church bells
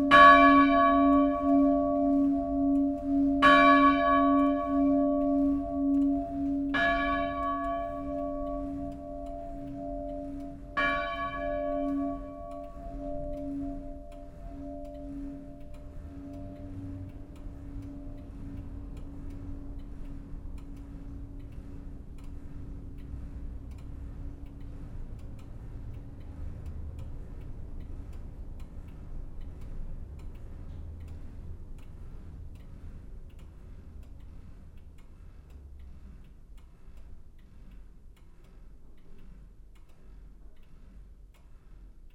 0.0s 20.3s

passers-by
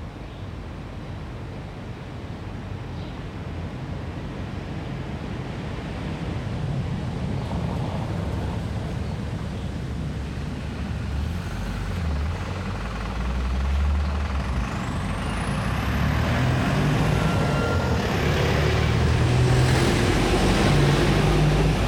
5.6s 21.8s

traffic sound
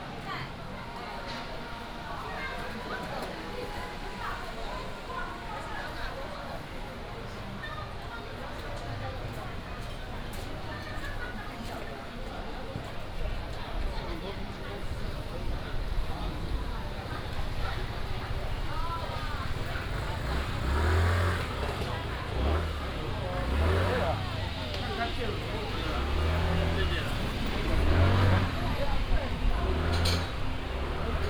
14.5s 31.2s

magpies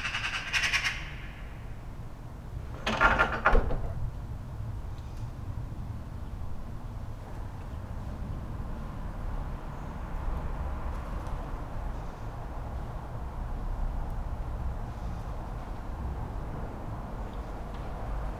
0.0s 1.8s

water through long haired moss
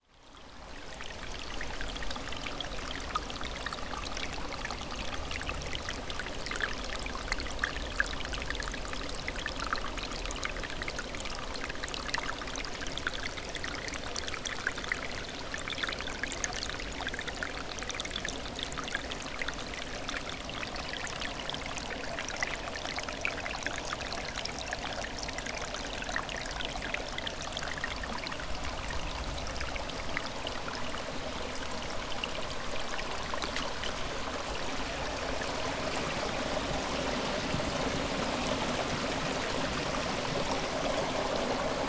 19.9s 41.8s

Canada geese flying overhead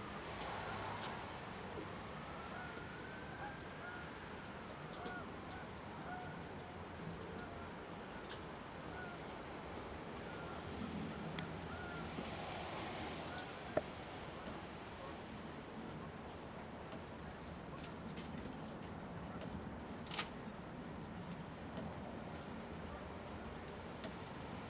0.5s 16.3s

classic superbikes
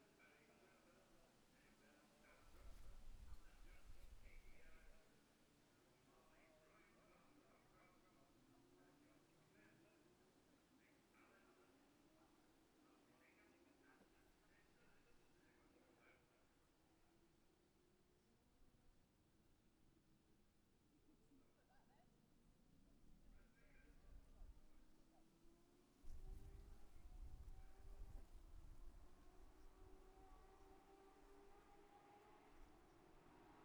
26.5s 33.6s

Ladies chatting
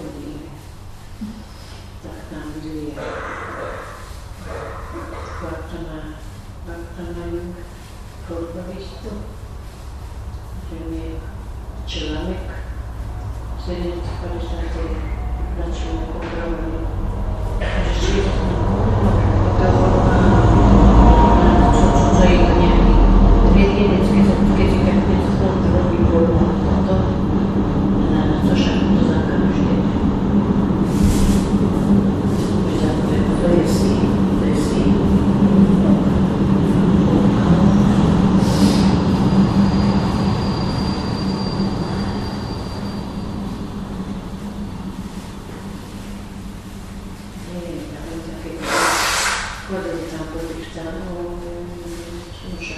2.0s 7.6s, 13.6s 30.2s, 32.0s 38.9s, 49.6s 52.7s

